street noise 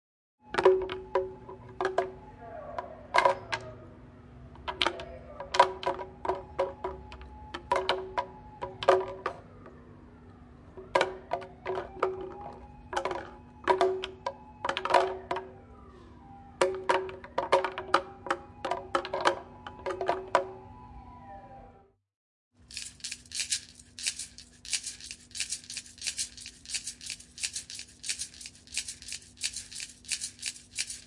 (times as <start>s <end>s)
0.4s 21.8s